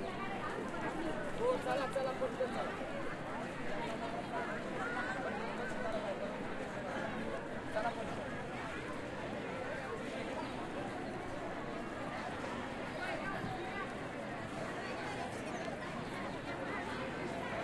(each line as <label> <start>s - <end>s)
outdoor crowd 0.0s - 17.6s